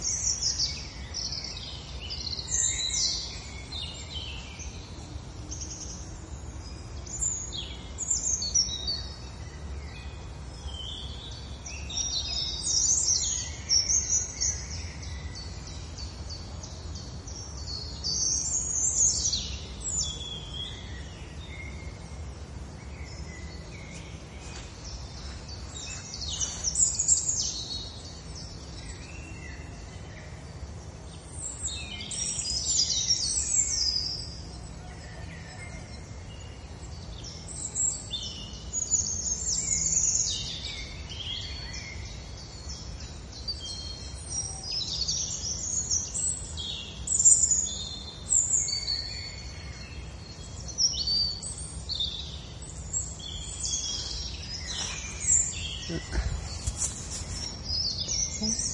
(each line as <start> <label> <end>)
0.0 birds 58.7
52.1 people far away 58.7